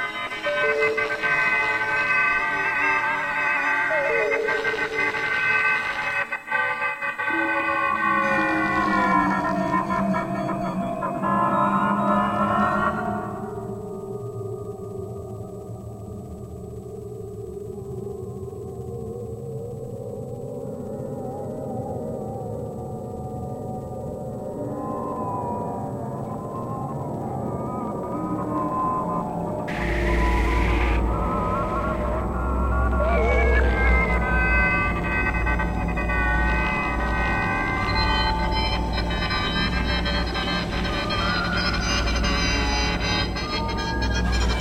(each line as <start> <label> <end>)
20.8 synth 44.6